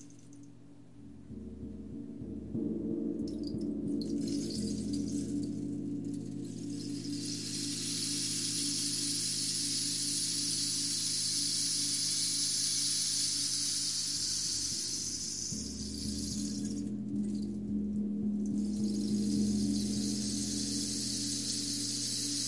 1.0s Gong 12.0s
3.3s Rainstick 17.7s
15.4s Gong 22.4s
18.4s Rainstick 22.4s

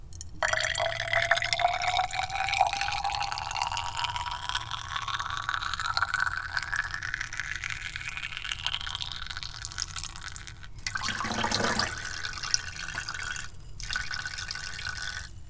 0.2s glass beaker small filling with water 15.4s

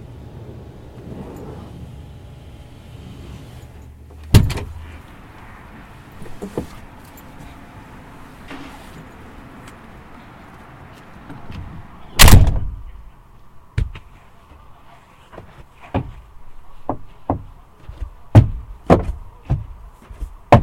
0.0s wind 20.6s
0.2s swooosh 2.0s

